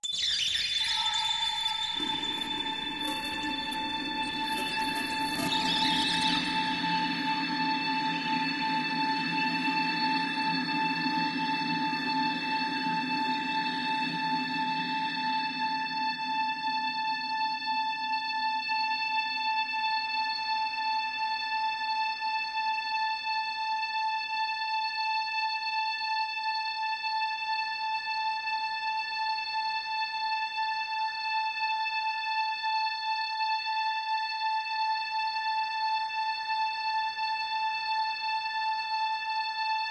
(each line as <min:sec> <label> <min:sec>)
0:00.8 PAD sound 0:07.8